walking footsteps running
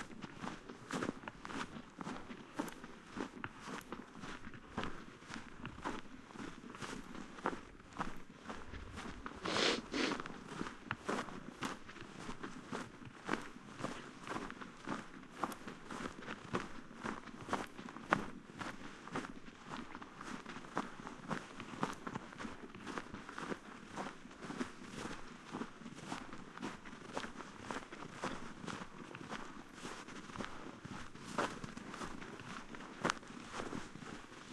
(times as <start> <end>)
0.1 18.3